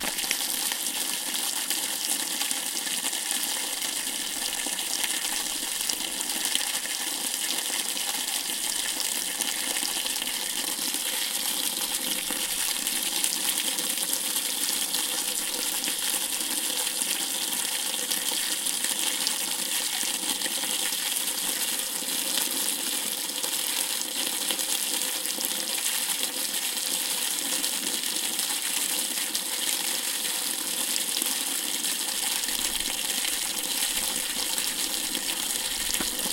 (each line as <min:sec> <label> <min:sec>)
0:00.0 Water pouring from a source 0:22.1
0:32.0 Water pouring from a source 0:36.3